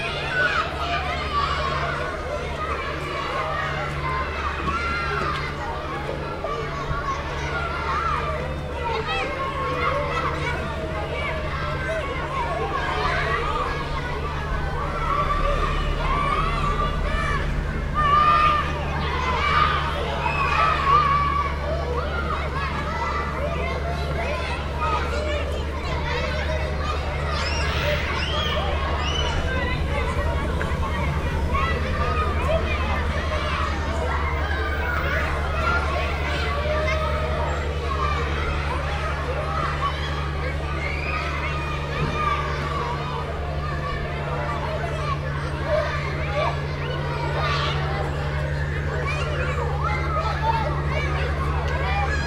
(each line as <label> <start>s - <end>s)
Children are playing 0.0s - 52.2s
big drones of three industrial boats passing by 0.0s - 52.2s